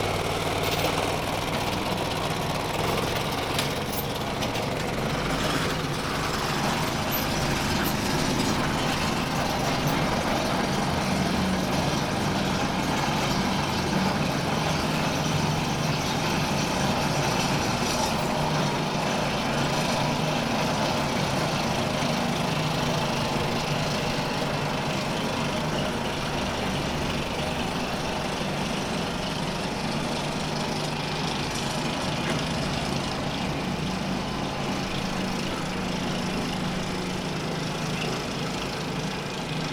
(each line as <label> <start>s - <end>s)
simple transporting vehicle moving on a single rail 0.0s - 39.7s